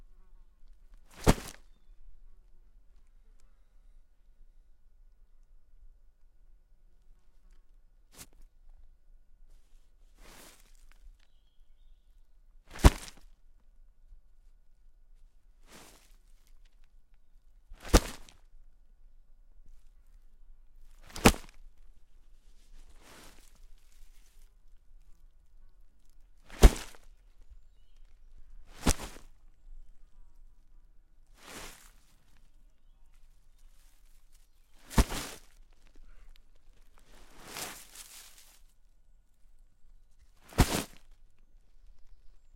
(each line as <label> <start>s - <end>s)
Heavy bag hitting the ground 1.1s - 1.6s
birds in the background 1.5s - 4.8s
birds in the background 10.8s - 12.6s
Heavy bag hitting the ground 12.7s - 13.2s
Heavy bag hitting the ground 17.8s - 18.3s
Heavy bag hitting the ground 21.1s - 21.6s
Heavy bag hitting the ground 26.5s - 27.0s
birds in the background 27.0s - 37.0s
Heavy bag hitting the ground 28.7s - 29.3s
Heavy bag hitting the ground 34.8s - 35.5s
Heavy bag hitting the ground 40.4s - 41.1s
birds in the background 41.5s - 42.5s